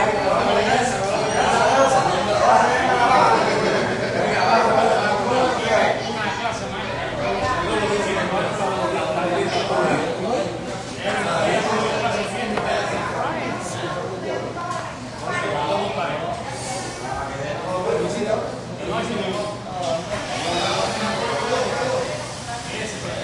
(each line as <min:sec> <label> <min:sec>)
0:00.0 little spanish walla with some roomy echo 0:23.2